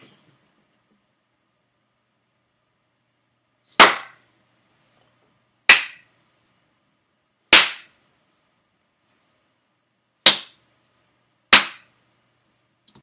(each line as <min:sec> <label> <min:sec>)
0:03.8 hard jaw jarring face slap 0:04.2
0:05.7 hard jaw jarring face slap 0:06.0
0:07.5 hard jaw jarring face slap 0:07.9
0:10.3 hard jaw jarring face slap 0:10.6
0:11.5 hard jaw jarring face slap 0:11.9